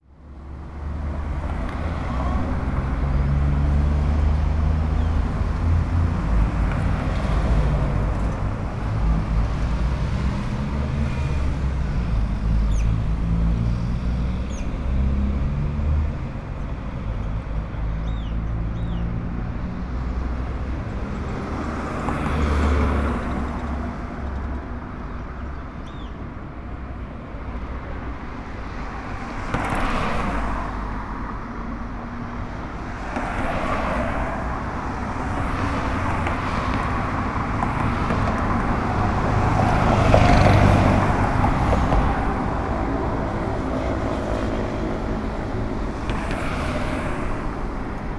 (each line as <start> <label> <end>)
0.0 vehicles passing 48.1